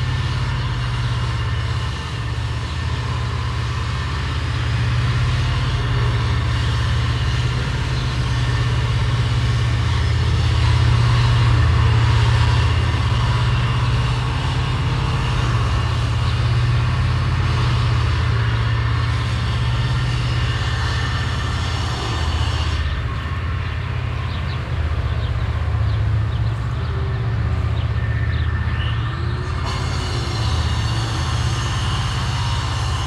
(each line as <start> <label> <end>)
0.0 man saws wood 24.6
0.0 tractor transports hay into the stable 33.0
26.6 man saws wood 33.0